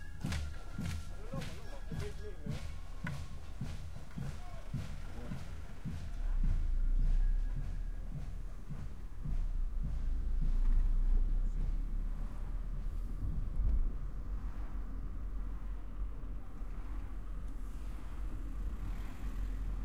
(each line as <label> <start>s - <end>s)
MARCHING MUSIC PARADE 0.0s - 13.0s
drum 0.0s - 13.5s